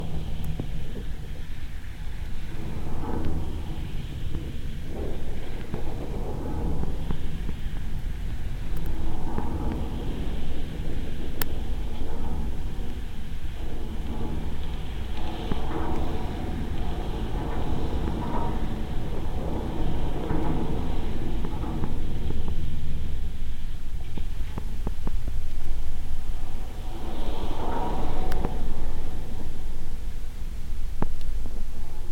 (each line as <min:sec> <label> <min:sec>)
0:00.0 suspender cluster 0:32.1